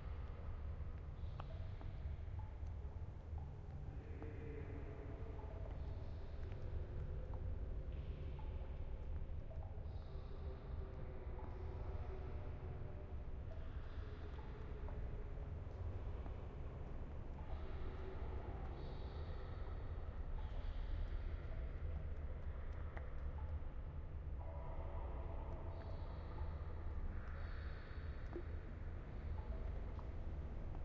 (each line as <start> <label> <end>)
0.0 Water 30.8